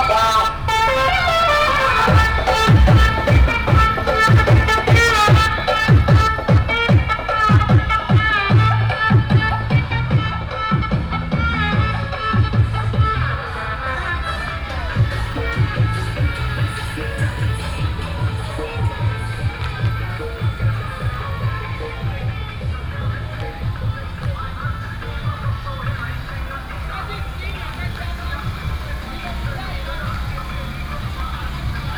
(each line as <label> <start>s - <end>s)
Fireworks sound 0.0s - 10.3s
traffic sound 0.0s - 31.9s